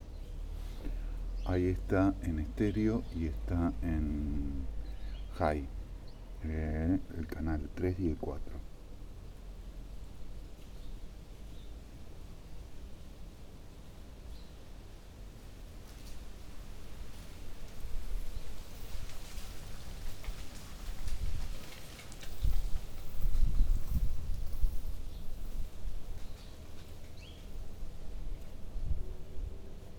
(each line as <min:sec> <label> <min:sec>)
0:00.0 Three cars pass along a village street 0:23.5